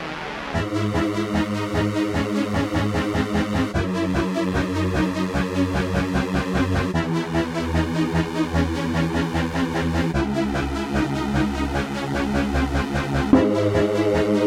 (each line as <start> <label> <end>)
13.3 melody 14.4